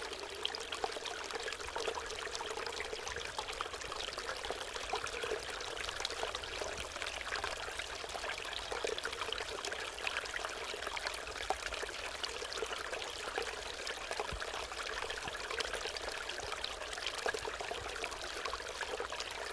0.0s tiny fall in stream 19.5s

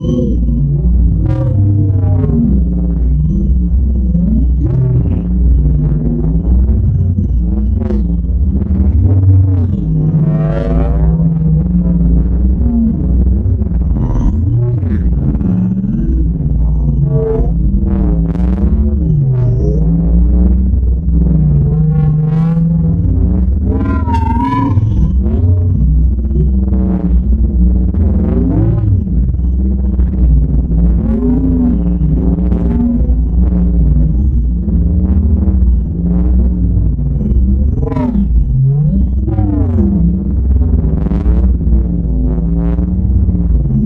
0.0s drone 43.8s

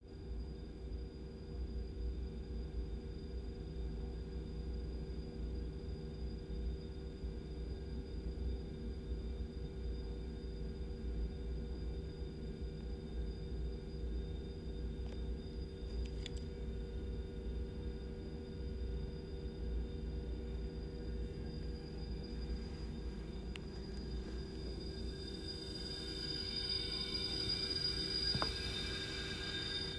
16.6s buzz 29.9s

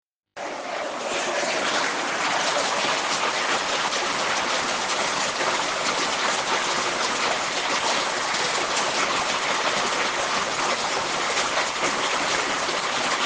0.5s Raining outside 13.2s

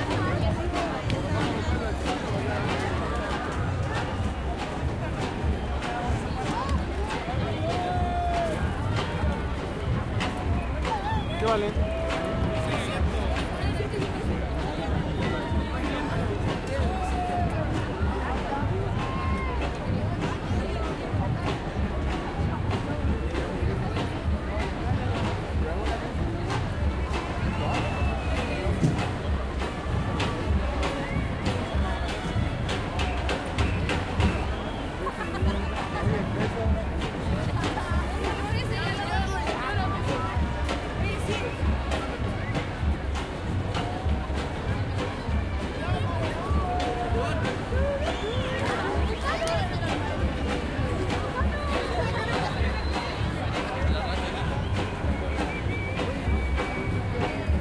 0.0s crowd 57.6s

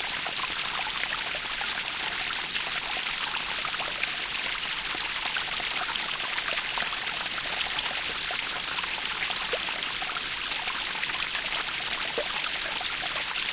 0.0s waterfall 13.5s

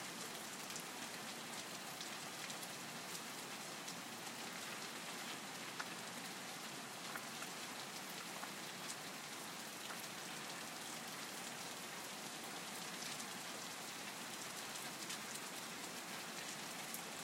0.0s rainfall 17.2s

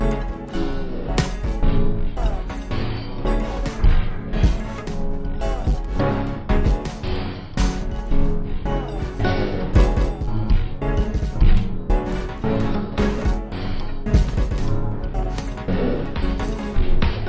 0.0s Off Beat Resampled Song 17.2s

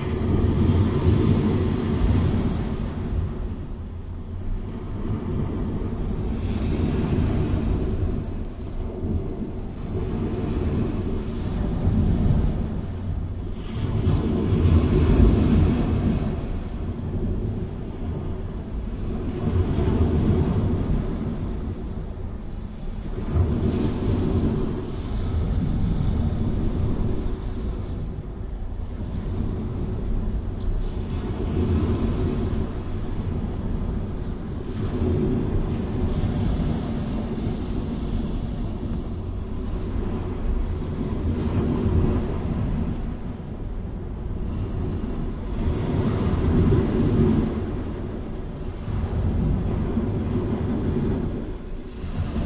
0.0s sea wave 52.4s

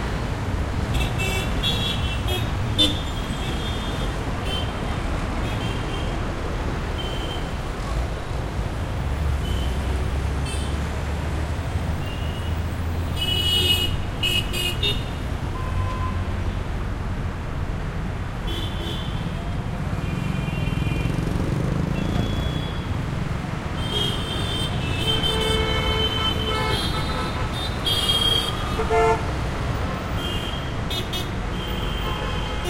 0.0s vehicles 32.6s
19.2s motorcycles 25.6s

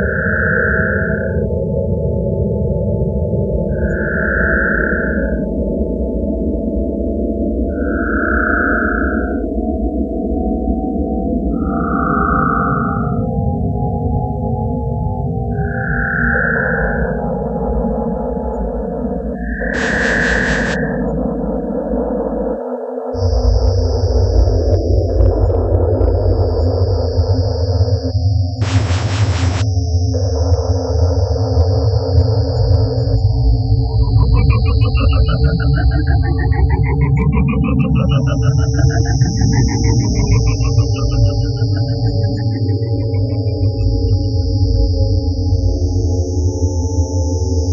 19.8s space noises 21.1s
28.6s space noises 29.8s
33.2s space noises 44.7s

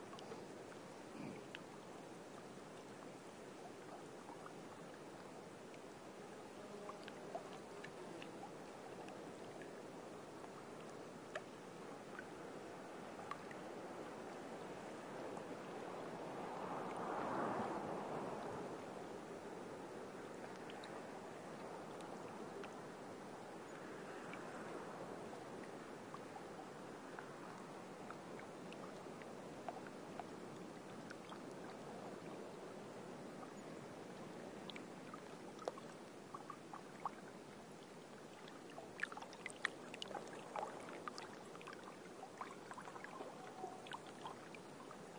8.5s wind gusts 39.1s

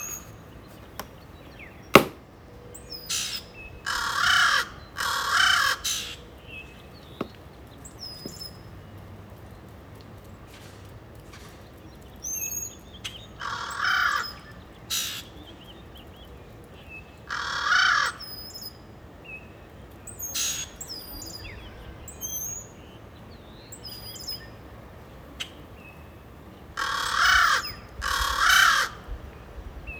0.0s birdsong 29.9s
3.1s Crows 6.3s
13.4s Crows 15.3s
17.3s Crows 18.3s
26.8s Crows 29.2s

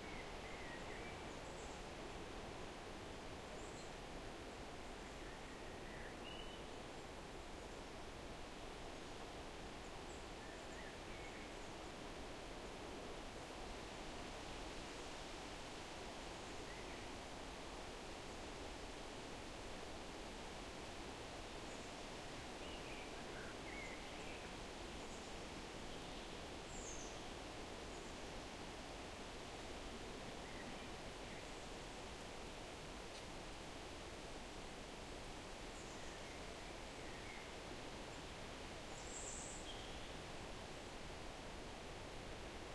0.0s wind 42.7s

